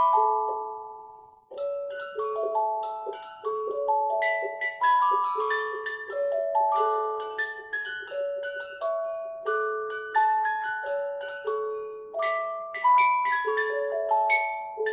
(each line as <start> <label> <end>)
0.0 music-box in tea can 14.9
1.5 winding up music box 14.9